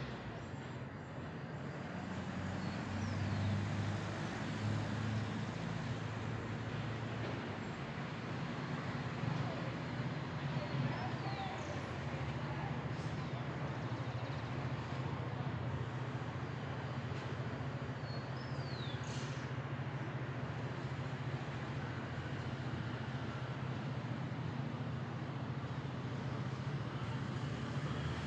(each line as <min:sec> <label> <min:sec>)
0:00.3 song of the birds 0:22.4